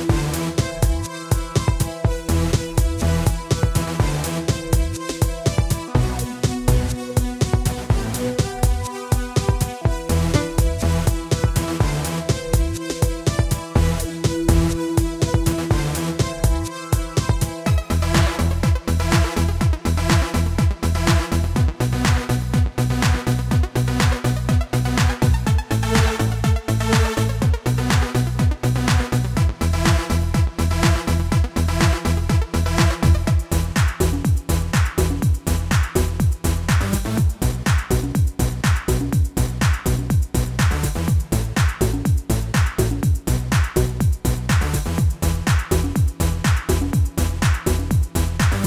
bass 0.0 - 48.6
drums 0.0 - 48.6
synthesizer 0.0 - 48.6

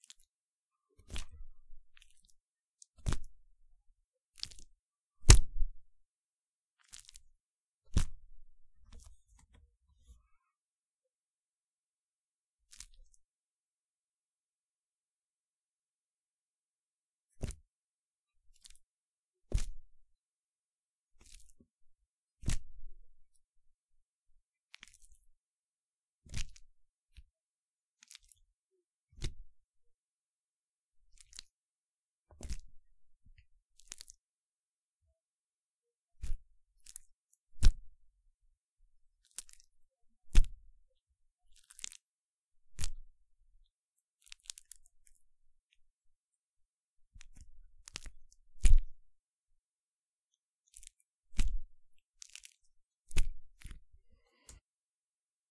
banana being squished 5.2 - 5.6

